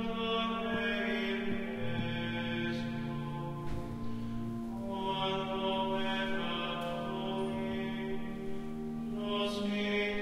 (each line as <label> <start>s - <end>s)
echoy singing in a church 0.0s - 10.2s